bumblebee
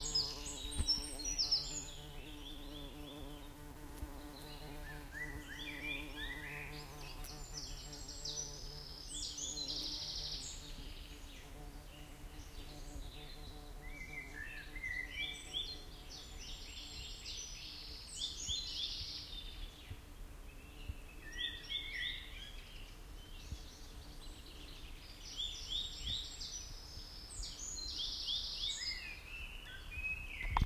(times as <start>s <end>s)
0.0s 19.1s